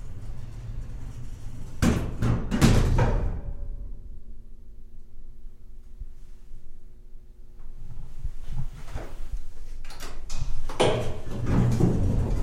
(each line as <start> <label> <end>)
0.0 elevator ascending two floors 2.2
0.0 Elevator door opening and closing 3.8